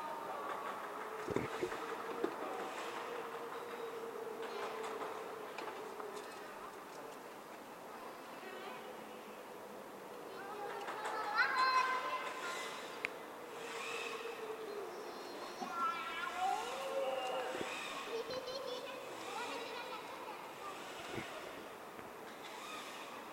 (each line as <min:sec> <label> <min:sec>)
0:10.2 children play 0:13.2
0:14.1 children play 0:21.7